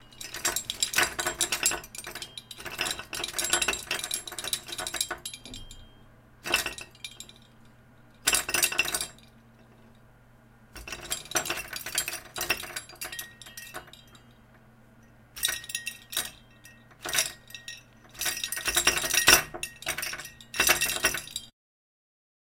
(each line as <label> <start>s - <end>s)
metal against door 0.0s - 7.4s
medals clinking against each other 0.0s - 10.1s
medals clinking against each other 10.8s - 21.5s
metal against door 15.4s - 21.5s